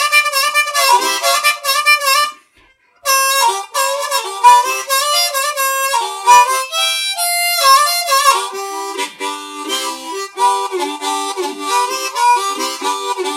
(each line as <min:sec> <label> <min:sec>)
0:00.0 Harmonica 0:13.3